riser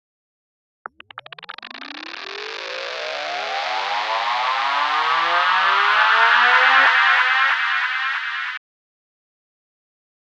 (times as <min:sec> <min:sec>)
0:01.3 0:08.6